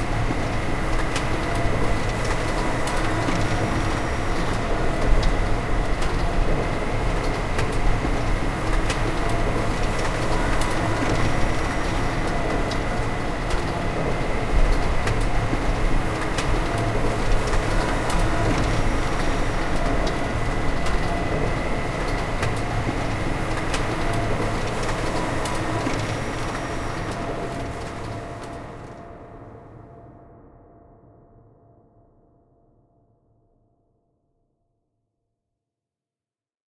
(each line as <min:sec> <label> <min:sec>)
0:00.0 industrial mechanized factory 0:29.6